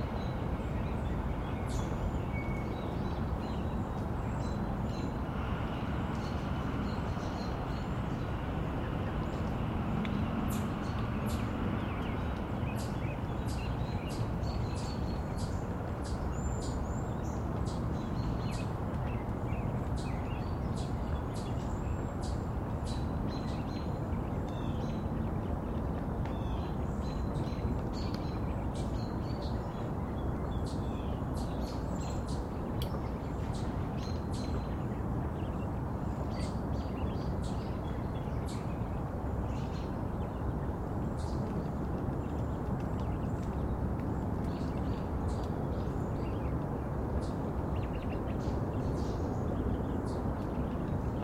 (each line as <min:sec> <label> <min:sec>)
0:00.0 Birds 0:51.2
0:00.0 water 0:51.2
0:00.0 wind 0:51.2